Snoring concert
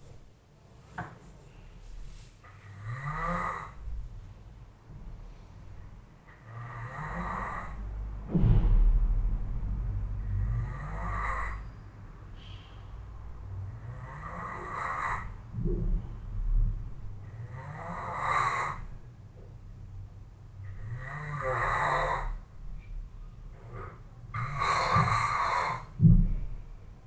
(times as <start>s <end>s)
2.5s 3.9s, 6.3s 7.9s, 10.2s 11.7s, 13.6s 15.4s, 17.2s 19.0s, 20.6s 22.5s, 23.7s 26.0s